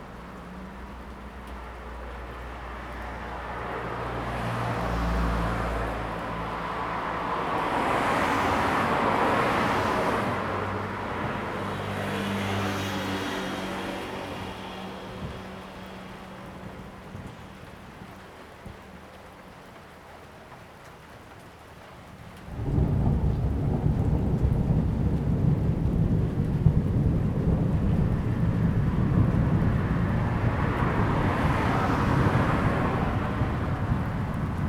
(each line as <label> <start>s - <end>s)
Traffic 0.0s - 34.6s
rain 0.0s - 34.6s
Thunder 22.5s - 34.6s